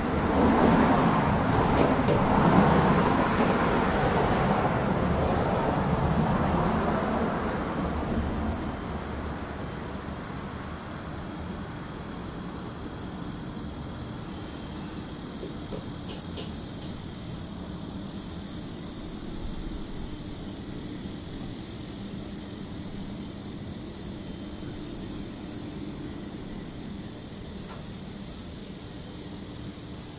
0.0s cars go by 11.6s
0.0s Bugs 30.1s
0.0s anual cicadas 30.1s
0.0s crickets 30.1s
0.0s wind 30.1s

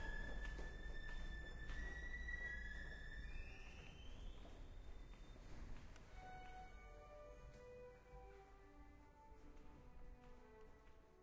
6.0s Violin 8.5s

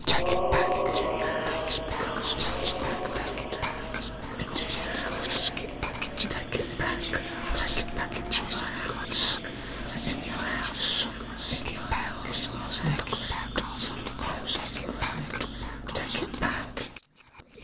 0.0s voices 15.4s

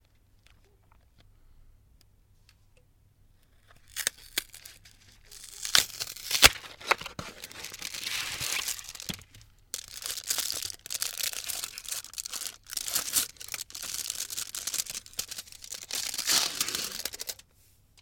3.5s opening up a slab of Lindt Swiss chocolate 17.4s

